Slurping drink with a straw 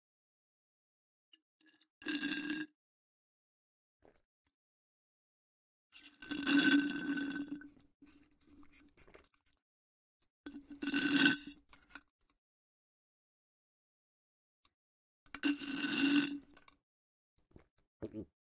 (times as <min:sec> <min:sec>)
0:06.0 0:09.6, 0:10.5 0:12.1, 0:15.3 0:16.8